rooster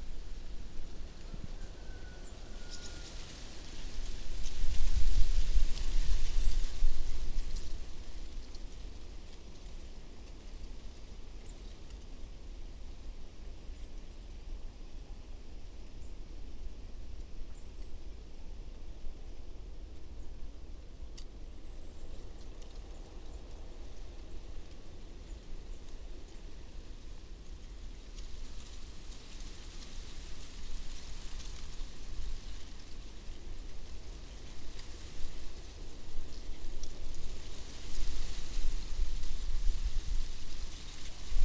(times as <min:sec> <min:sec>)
0:01.3 0:03.3